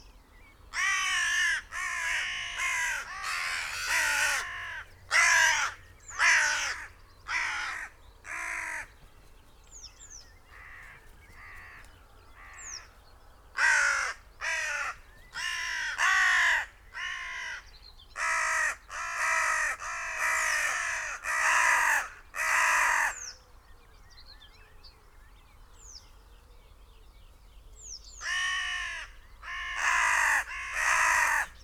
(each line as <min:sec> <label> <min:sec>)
0:00.7 crows 0:09.0
0:00.8 loose flock of crows flapped 0:17.6
0:10.5 crows 0:12.9
0:13.5 crows 0:23.3
0:28.2 crows 0:31.6